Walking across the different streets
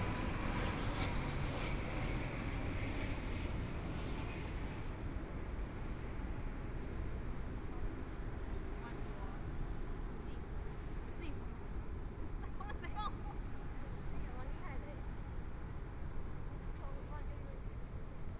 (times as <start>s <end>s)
13.4s 18.3s